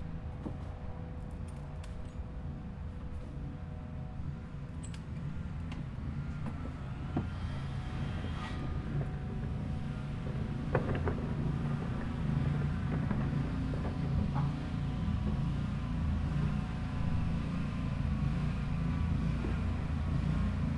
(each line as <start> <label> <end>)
0.0 construction 20.7
0.0 lawn mowers 20.7